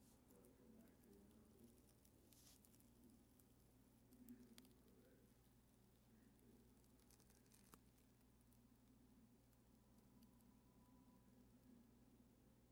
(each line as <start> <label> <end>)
0.0 Burning Paper 4.9
6.3 Burning Paper 8.4